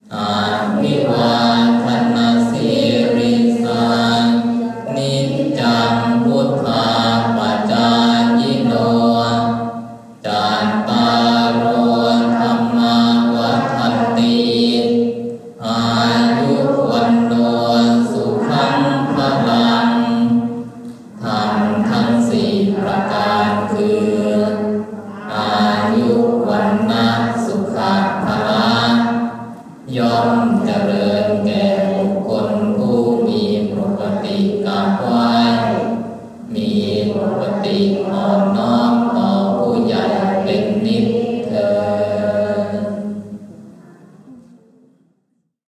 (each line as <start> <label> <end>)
0.0 Buddhist Monk Chant 44.8